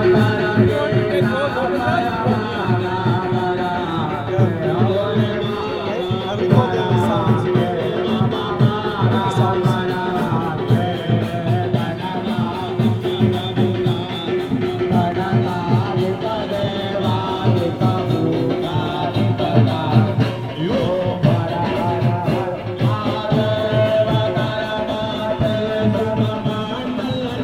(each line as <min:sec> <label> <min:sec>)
0:00.0 Durga puja song 0:27.4